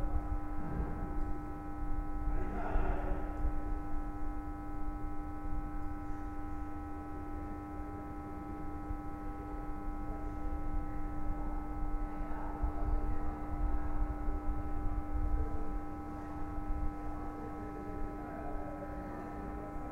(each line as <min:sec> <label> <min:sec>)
0:00.0 buzz of a streetlight 0:19.9